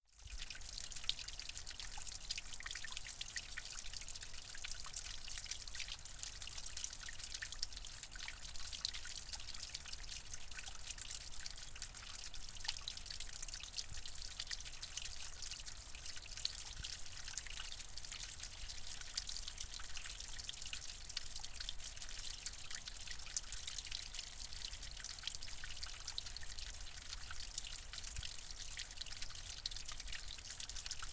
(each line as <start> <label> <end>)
0.1 Small stream splashing on to rocks 31.1